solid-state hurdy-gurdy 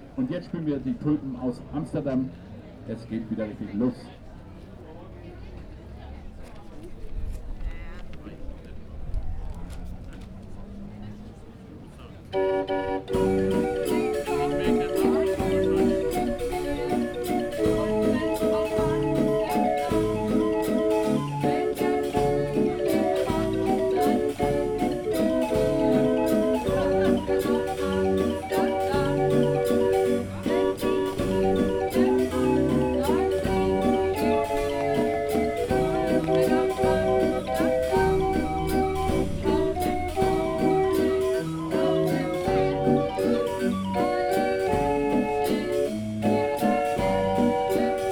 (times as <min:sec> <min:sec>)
0:12.4 0:48.1